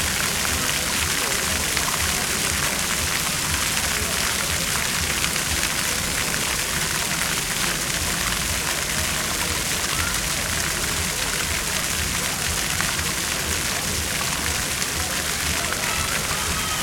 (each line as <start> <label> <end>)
0.0 water of the fountain 16.8